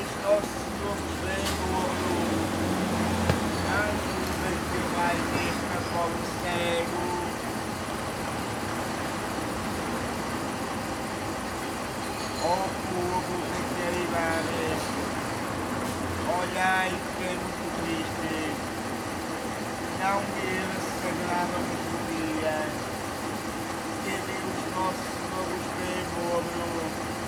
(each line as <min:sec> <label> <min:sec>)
0:00.0 homeless man chanting 0:07.4
0:00.0 buses leaving and arriving 0:27.2
0:12.4 homeless man chanting 0:14.8